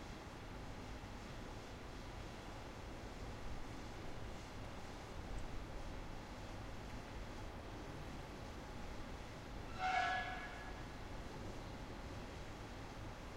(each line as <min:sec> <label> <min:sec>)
0:09.6 train arriving 0:11.9